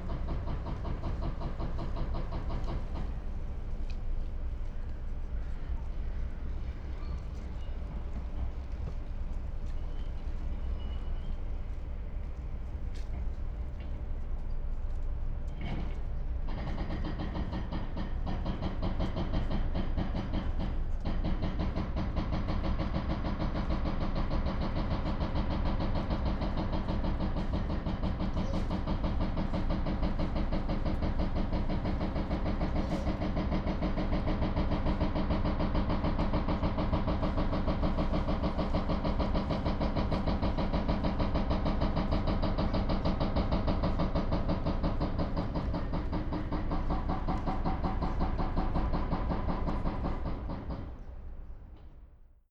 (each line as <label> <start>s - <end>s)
helicopter 0.0s - 52.2s
heavy deconstruction work 14.9s - 52.0s